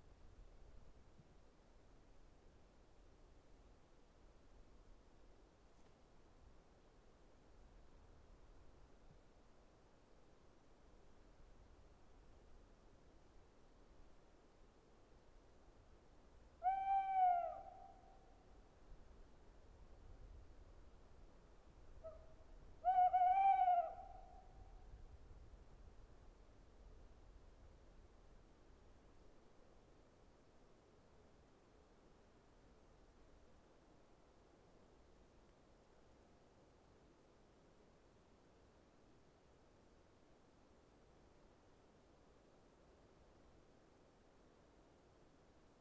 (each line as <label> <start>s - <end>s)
Gentle breeze on the treetop 0.0s - 45.8s
Tawny owl singing 16.6s - 18.2s
Tawny owl singing 22.8s - 24.6s